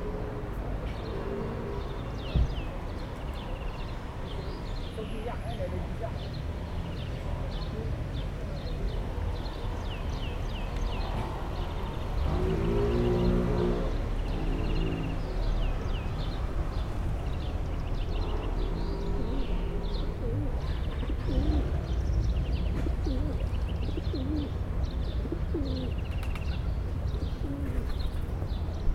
18.0s pigeons 28.7s

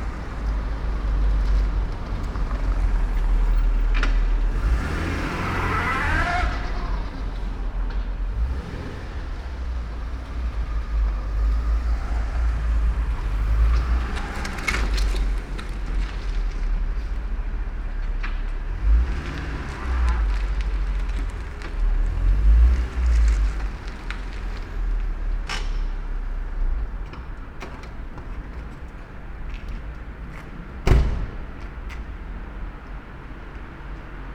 0.0s cars passing by 34.3s

